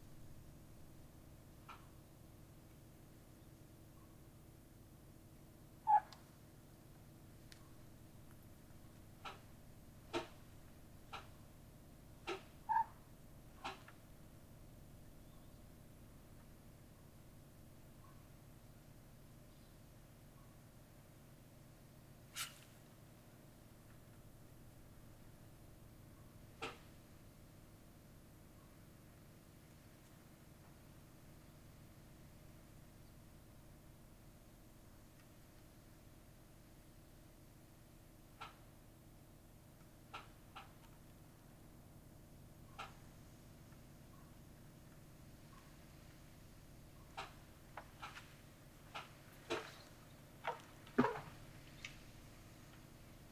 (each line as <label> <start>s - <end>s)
two crows 12.2s - 13.0s